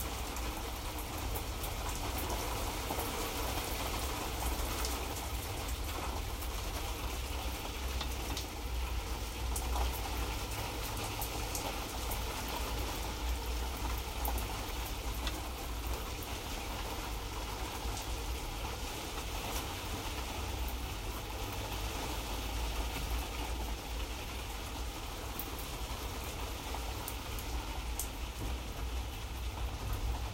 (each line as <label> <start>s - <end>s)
city light rain 0.0s - 30.3s